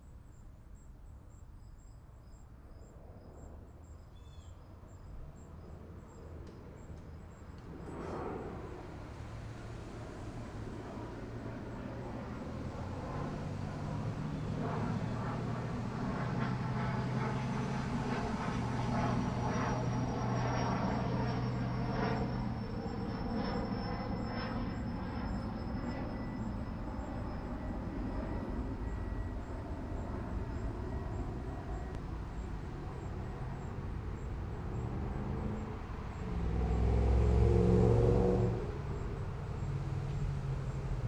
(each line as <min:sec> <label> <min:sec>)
0:00.0 airplane 0:41.0
0:00.0 crickets 0:41.0
0:05.1 traffic 0:22.9
0:28.5 traffic 0:41.0